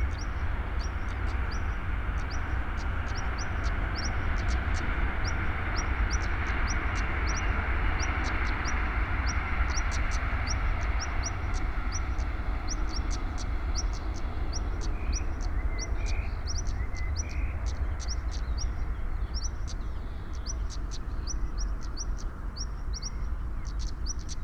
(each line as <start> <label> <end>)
0.0 train is passing by in the distance 24.4